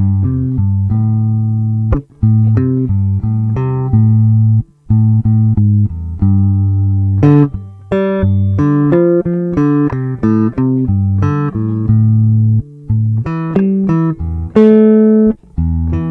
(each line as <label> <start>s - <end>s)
Guitar 0.0s - 16.1s